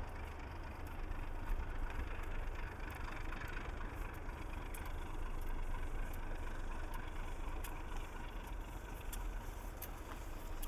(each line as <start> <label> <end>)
0.0 Engine sound of the locomotive 10.6